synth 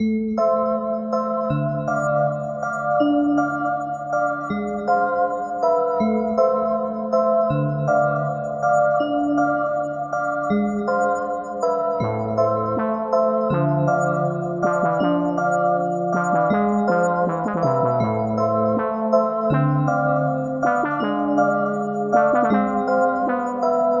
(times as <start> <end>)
7.4 24.0